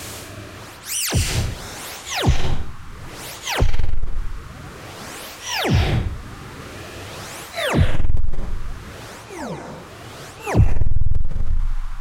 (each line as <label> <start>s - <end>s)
Alien Phaser Impact 0.9s - 4.4s
Alien Phaser Impact 5.5s - 6.2s
Alien Phaser Impact 10.5s - 11.8s